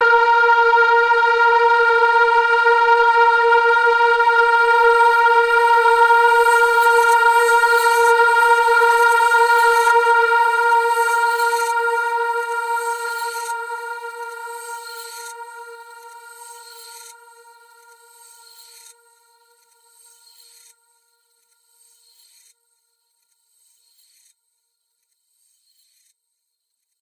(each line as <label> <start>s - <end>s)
multi-sampled synth pad 0.0s - 17.8s